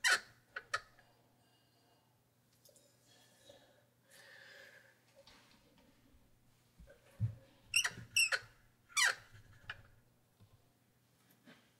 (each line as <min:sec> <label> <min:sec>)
0:07.7 squeaks from a wooden cabinet door 0:09.9